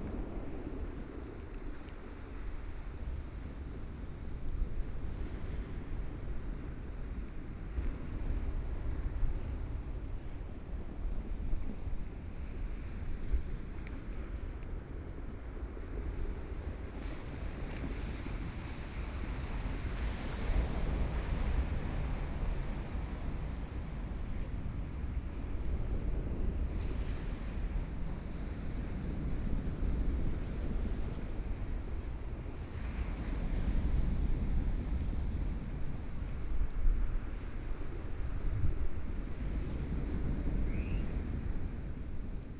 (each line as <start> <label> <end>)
0.0 waves 42.5